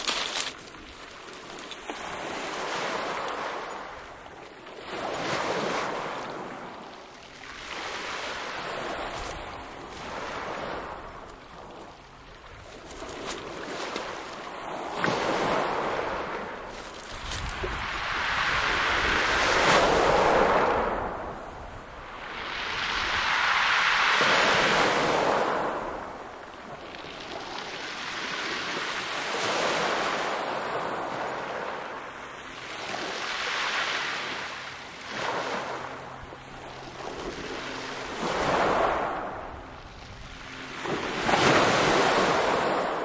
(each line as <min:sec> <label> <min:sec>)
0:00.0 pebbles 0:01.8
0:00.0 waves 0:43.0